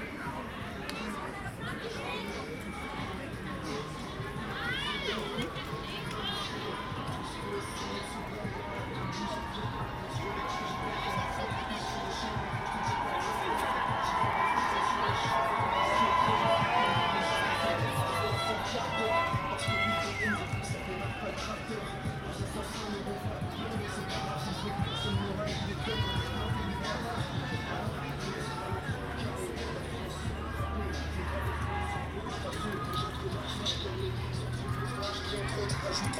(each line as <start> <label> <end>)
0.0 music 36.1
0.0 singing 36.1
2.2 chanting 36.1
12.6 horns 29.0